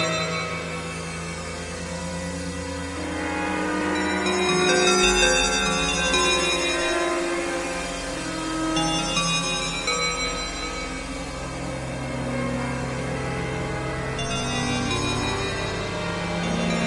bell 14.2 - 16.8

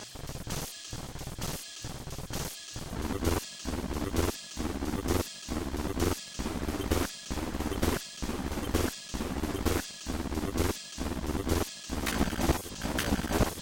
acid loop 2.8 - 13.6

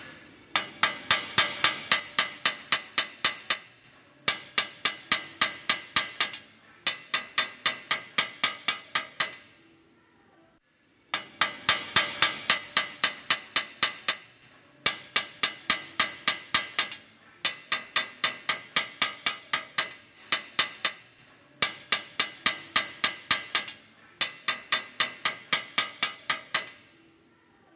Hammer taps metal 0.0 - 9.6
Hammer taps metal 11.1 - 27.0

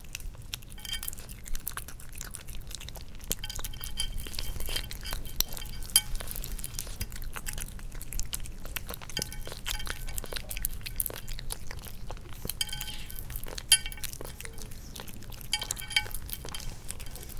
cat eating 0.0 - 17.3

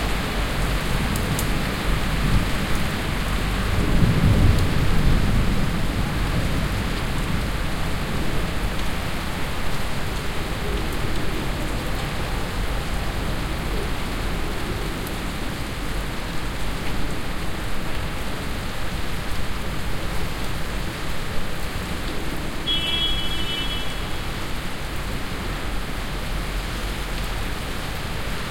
rain storm 0.0 - 28.5

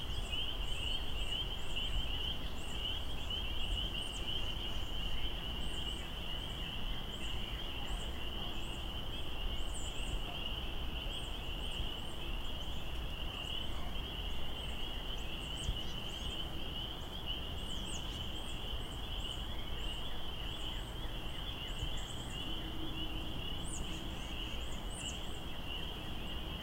Insect sounds 0.0 - 26.6
distant bird noises 0.0 - 26.6
plane overhead 0.0 - 26.6
stream 0.0 - 26.6

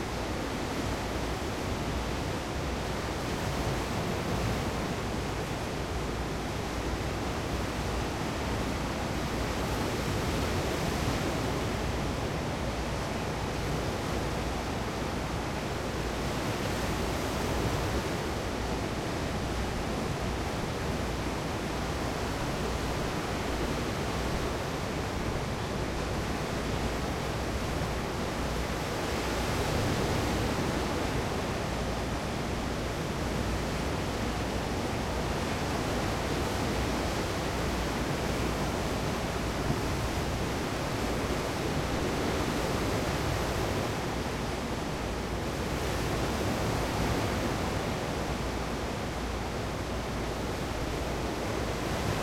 waves 0.0 - 52.2

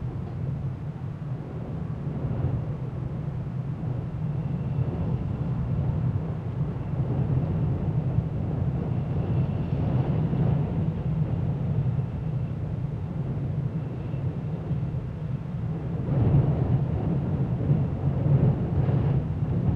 wind 0.0 - 19.7

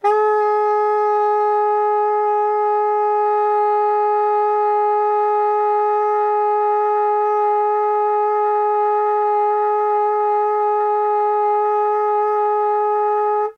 soprano sax 0.0 - 13.5

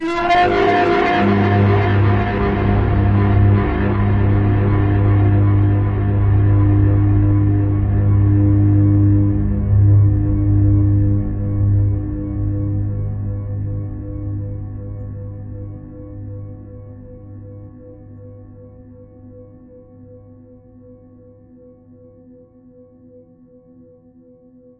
scream 0.0 - 11.0

